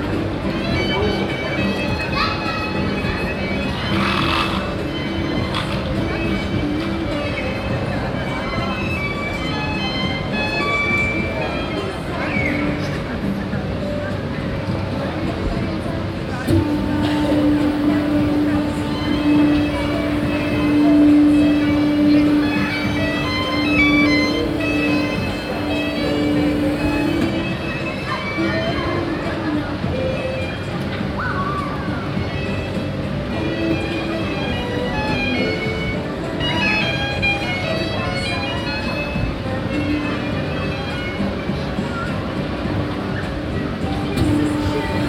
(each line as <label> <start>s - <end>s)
children's merry-go-round 0.0s - 45.0s